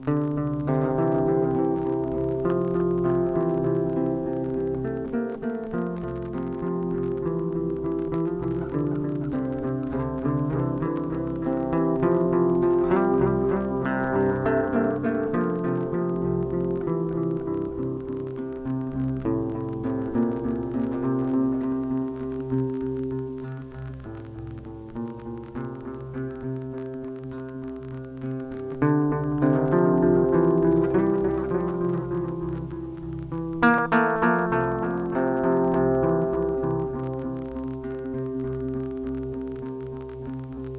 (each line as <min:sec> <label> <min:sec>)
0:00.0 Dminor scale played in an alternative tuning 0:40.7